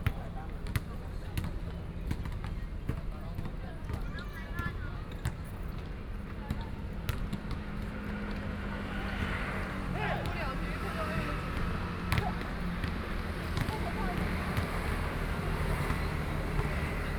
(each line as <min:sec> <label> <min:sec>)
0:00.0 Play basketball 0:17.1
0:06.8 Traffic Sound 0:17.1